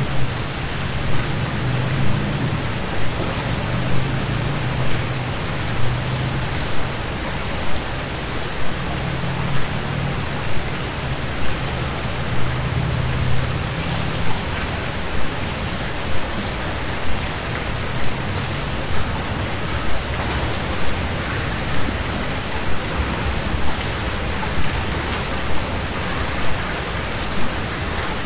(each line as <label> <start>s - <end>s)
rain 0.0s - 28.2s